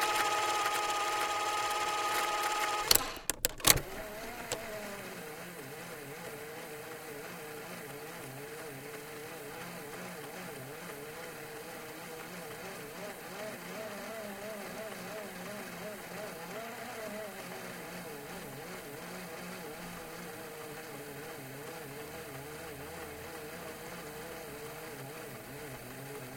Portable cassette recorder 0:00.0 - 0:06.2

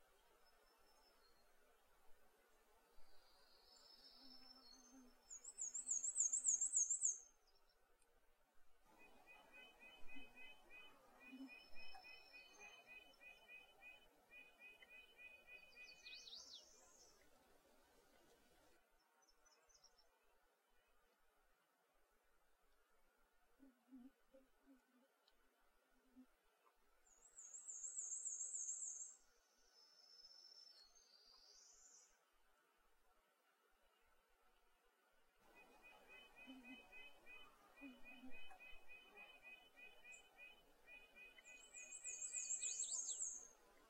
birdsong 0:02.9 - 0:07.8
birdsong 0:08.9 - 0:17.4
birdsong 0:27.0 - 0:32.2
birdsong 0:35.5 - 0:43.8

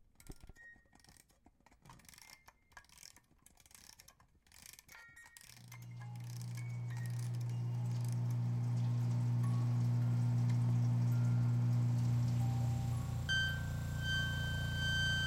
music box being wound and played twice 0:00.0 - 0:08.4
projection machines 0:05.6 - 0:15.2
parrot harmonic 0:06.6 - 0:15.2

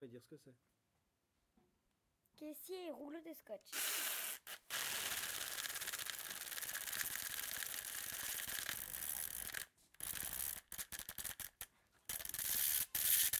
Sounds from objects that are beloved to the participant pupils 0:00.6 - 0:13.3

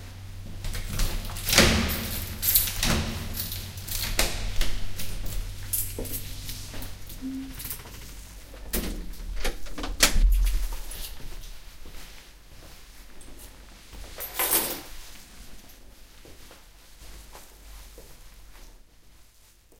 Keys are dropped on table 0:00.7 - 0:08.2
door opens, then closes softly 0:08.6 - 0:11.3
Keys are dropped on table 0:14.0 - 0:15.7

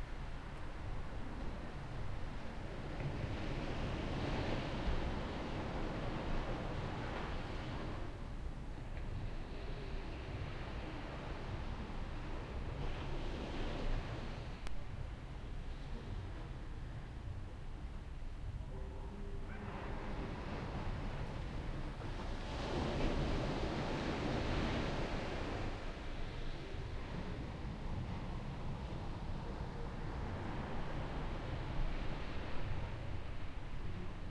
waves 0:00.0 - 0:34.3
faint distant voices 0:18.6 - 0:22.3
occasional distant dog bark 0:18.7 - 0:20.1

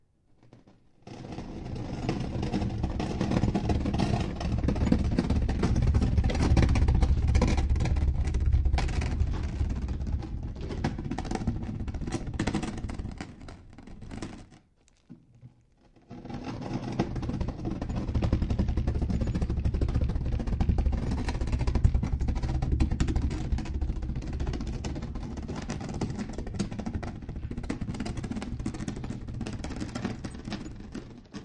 Dragging different kinds of stones, concrete blocks 0:01.1 - 0:31.4

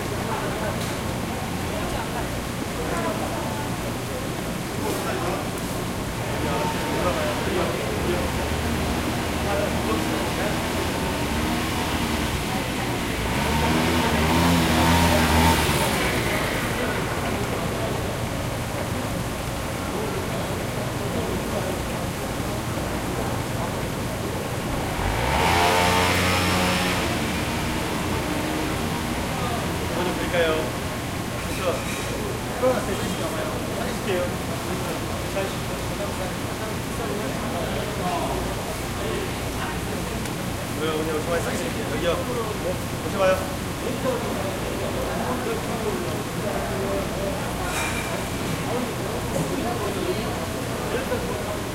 motorbike 0:06.1 - 0:33.3

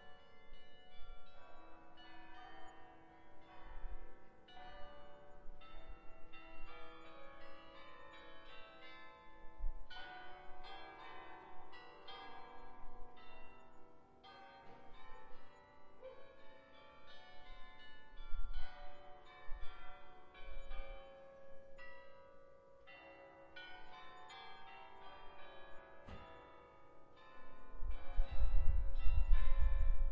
Bells 0:00.0 - 0:30.1

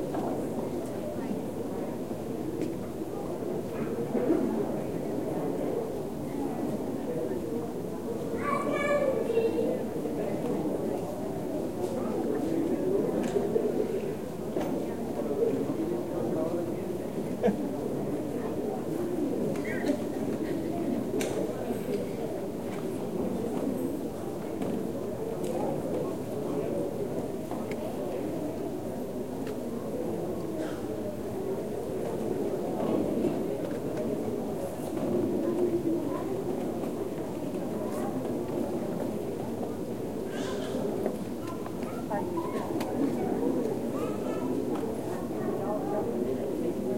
people in a church 0:00.0 - 0:46.9

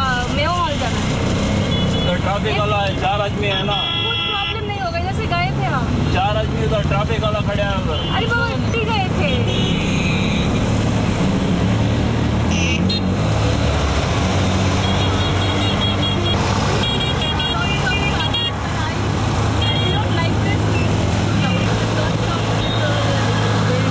Tuktuk ride 0:00.0 - 0:23.9
traffic noise 0:00.0 - 0:23.9

